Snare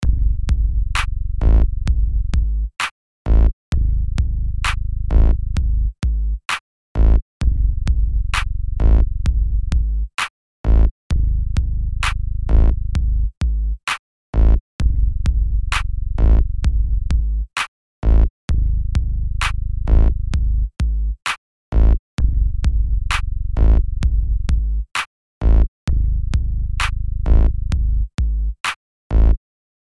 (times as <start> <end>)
26.8 27.4